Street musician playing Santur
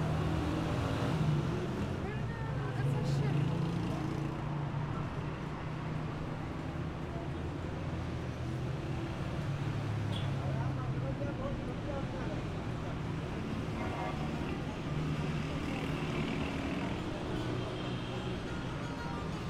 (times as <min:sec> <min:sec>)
0:16.1 0:19.4